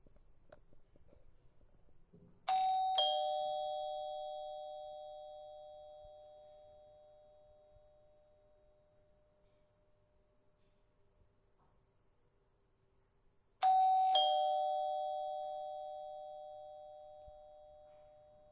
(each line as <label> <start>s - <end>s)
Door bell 2.5s - 9.7s
Door bell 13.6s - 18.5s